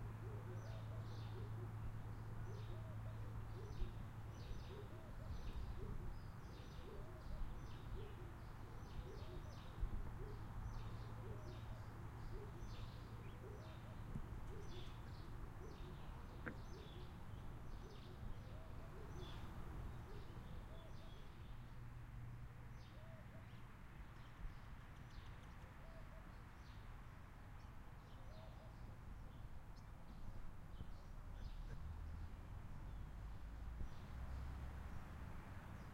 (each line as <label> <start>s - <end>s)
birds 0.0s - 22.0s
wind 0.0s - 35.9s
birds 22.7s - 35.9s